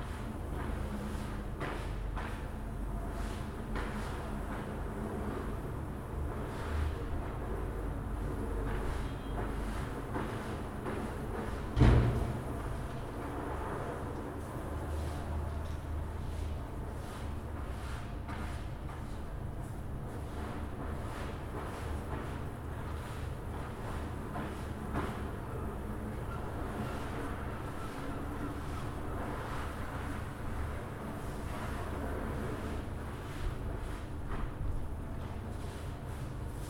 13.4s Workers cleaning carpets 25.8s
26.5s Workers cleaning carpets 36.6s

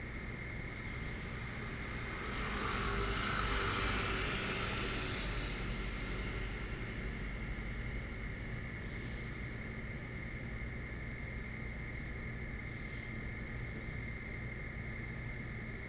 0.0s Traffic sound 8.9s

